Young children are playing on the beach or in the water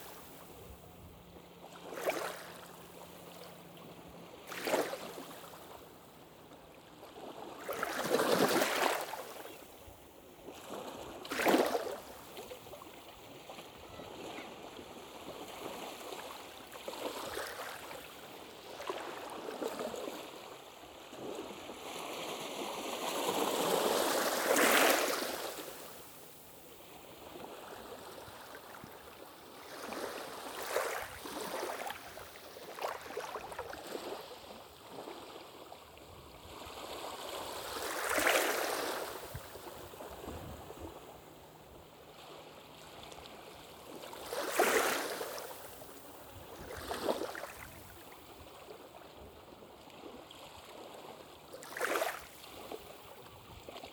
11.9 22.8

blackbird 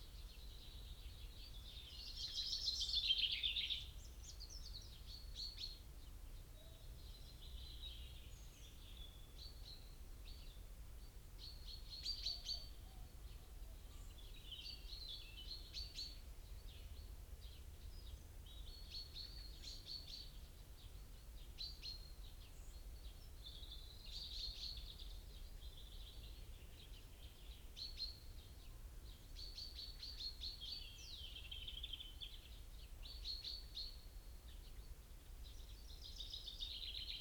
11.4 20.9

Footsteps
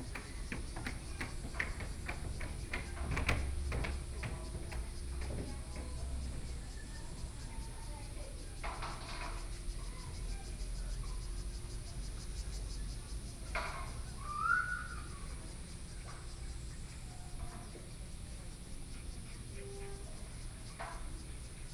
0.0 6.8

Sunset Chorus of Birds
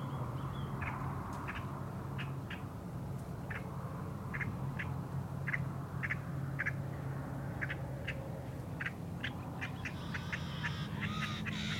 3.5 11.7

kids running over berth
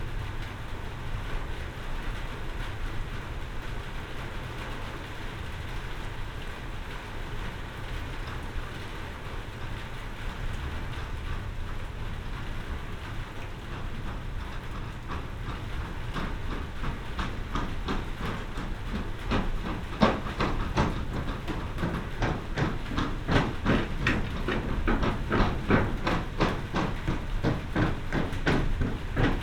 13.4 29.4

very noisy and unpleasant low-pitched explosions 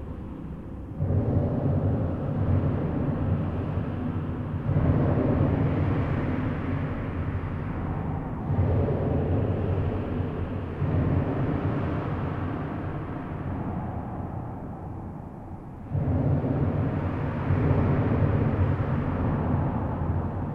15.8 20.5

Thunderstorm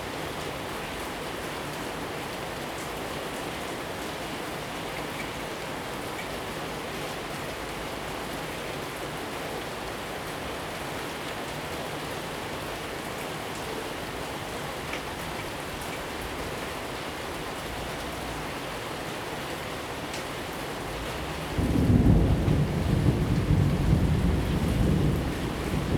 20.8 25.9

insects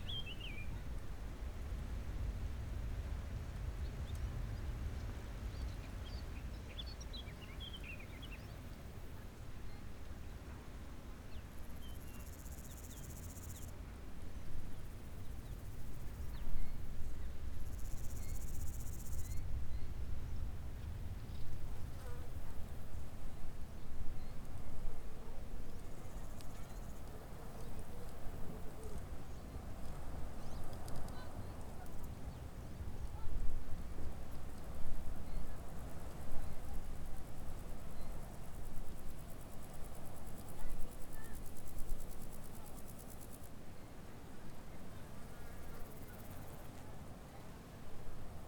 11.2 13.8, 14.4 48.4

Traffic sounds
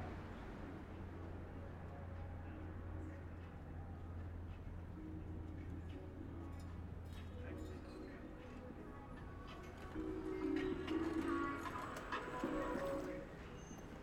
8.2 14.0

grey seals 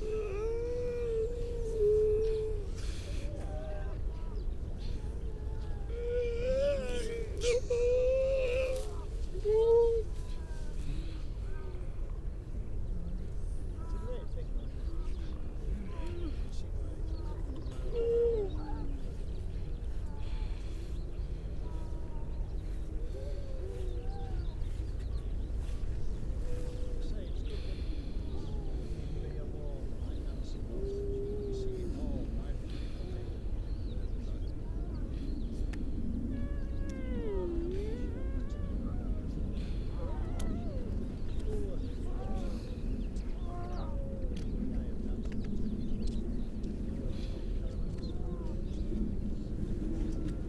0.0 11.8

